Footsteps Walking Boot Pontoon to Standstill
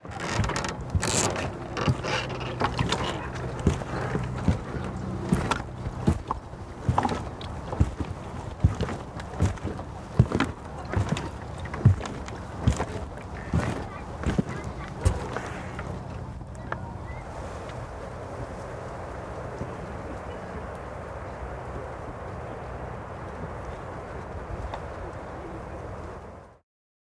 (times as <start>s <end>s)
0.0s 16.8s